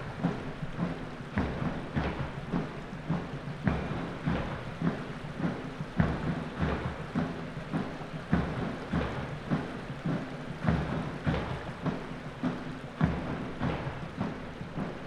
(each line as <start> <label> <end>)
0.0 drums 15.0
0.0 river 15.0